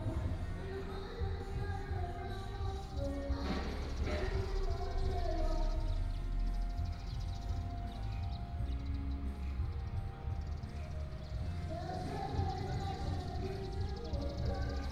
Bird cry 0.0 - 14.9
Karaoke 0.0 - 14.9

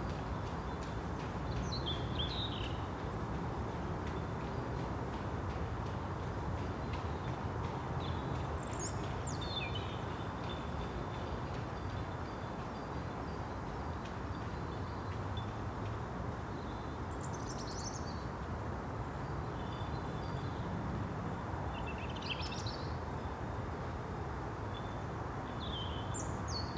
drone of traffic on the road 0.0 - 26.7

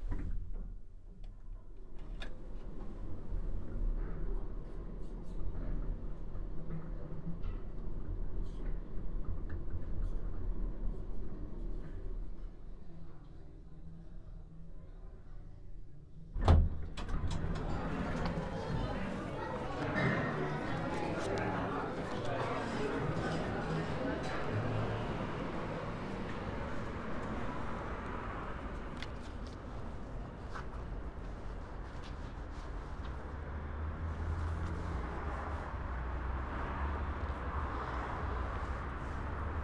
Hotel Lift 16.4 - 33.2

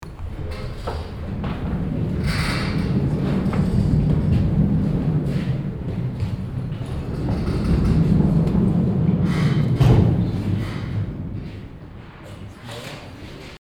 moving metal work bridge 0.0 - 13.4

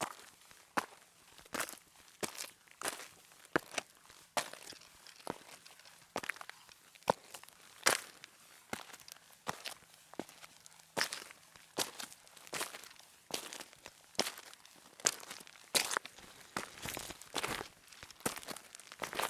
Walking up 13.7 - 19.2

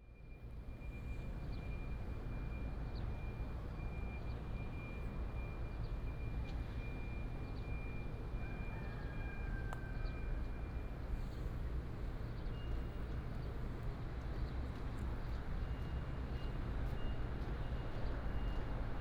The train passes by 7.6 - 19.0

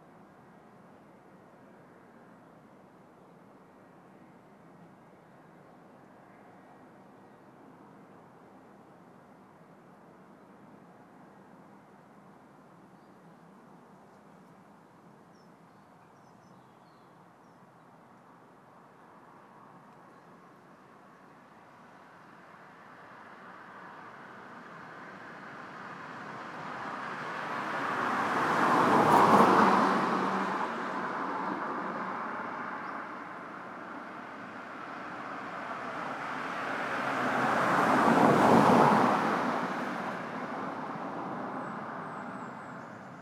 Cars 22.7 - 43.2

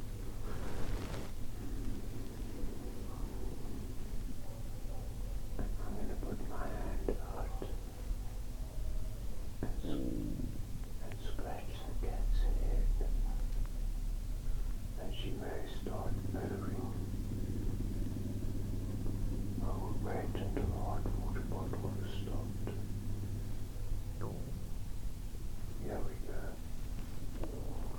My Purring Cat 0.4 - 7.9

